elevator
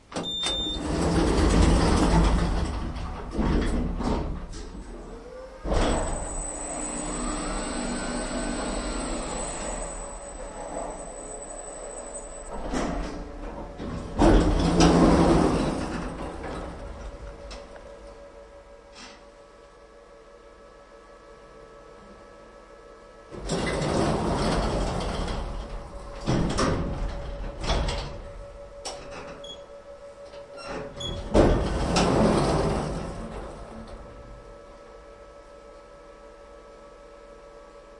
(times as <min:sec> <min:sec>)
0:00.0 0:18.3, 0:23.3 0:34.6